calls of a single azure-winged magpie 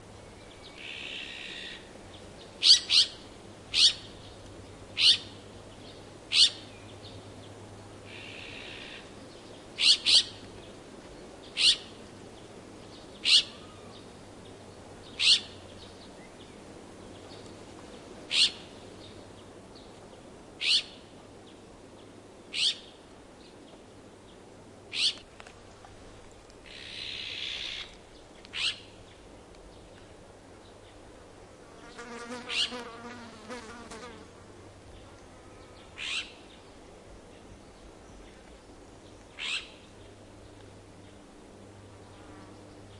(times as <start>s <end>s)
0.7s 1.9s, 2.6s 4.1s, 5.0s 5.3s, 6.3s 6.6s, 9.8s 10.4s, 11.6s 11.9s, 13.2s 13.9s, 15.2s 15.6s, 18.3s 18.7s, 20.6s 21.0s, 22.5s 22.9s, 24.9s 25.2s, 26.6s 27.9s, 28.5s 28.9s, 32.3s 33.7s, 36.0s 36.5s, 39.4s 39.8s